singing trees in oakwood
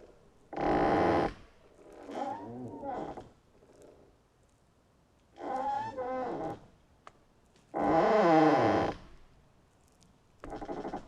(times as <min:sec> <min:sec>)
0:00.0 0:04.1, 0:05.2 0:09.2